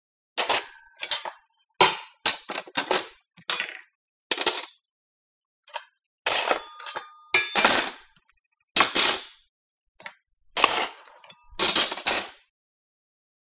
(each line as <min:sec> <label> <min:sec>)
0:00.4 Forks, knives and spoons being placed on a table 0:04.8
0:05.7 Forks, knives and spoons being placed on a table 0:08.2
0:10.0 Forks, knives and spoons being placed on a table 0:12.5